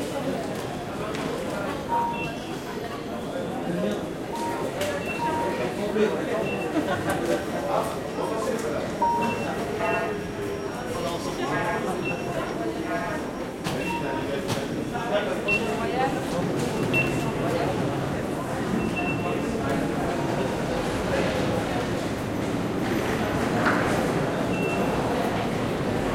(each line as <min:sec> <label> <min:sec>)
0:00.0 quiet french walla 0:26.1
0:00.0 train 0:26.1